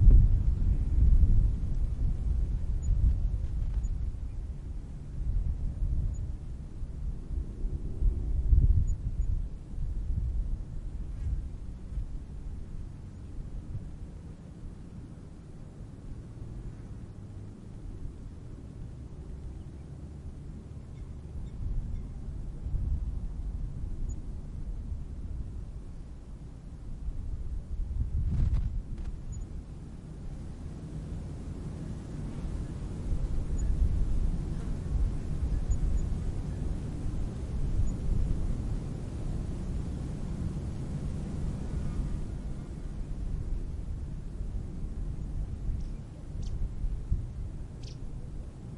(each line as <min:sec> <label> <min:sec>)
0:00.0 slight breeze 0:48.7